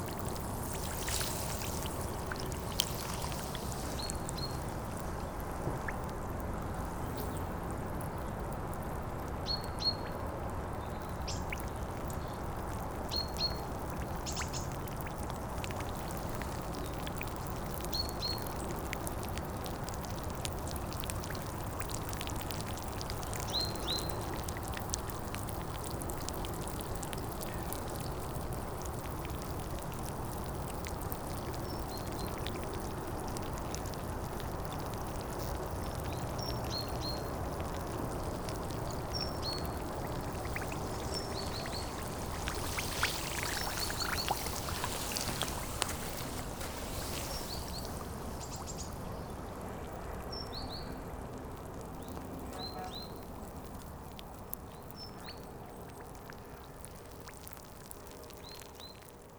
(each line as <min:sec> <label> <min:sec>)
0:00.0 sand and gravels make a lot of small bubbles 0:59.3
0:38.8 big wave 0:49.8